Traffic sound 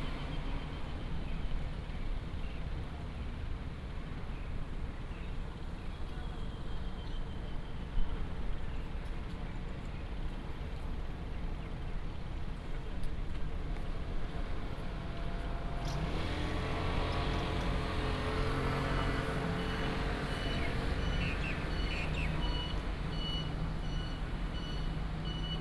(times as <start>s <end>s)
5.5s 25.6s